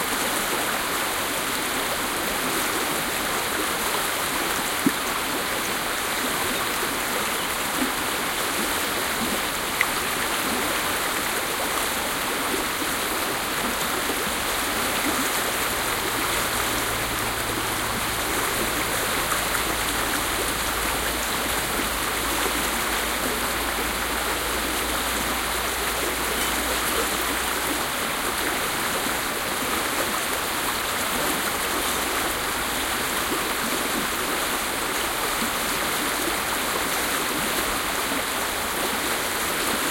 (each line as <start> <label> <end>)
0.0 pure mountain stream 39.9